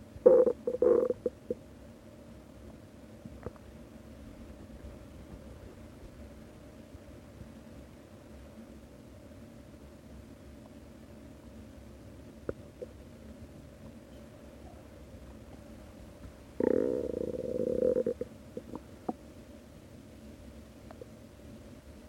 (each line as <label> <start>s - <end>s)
Quiet bubbling and groaning on an empty stomach 0.0s - 1.8s
Quiet bubbling and groaning on an empty stomach 9.8s - 19.5s
Quiet bubbling and groaning on an empty stomach 20.5s - 22.0s